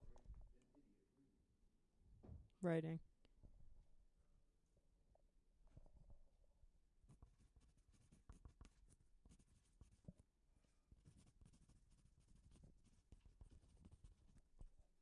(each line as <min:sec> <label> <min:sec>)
0:07.0 writing with a pencil 0:15.0